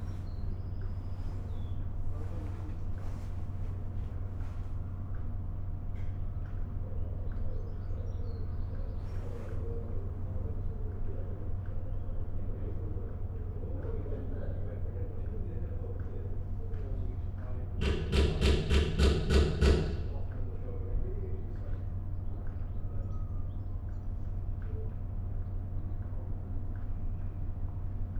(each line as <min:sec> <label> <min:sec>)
0:16.4 Workmen are refurbishing the old victorian canopy 0:20.4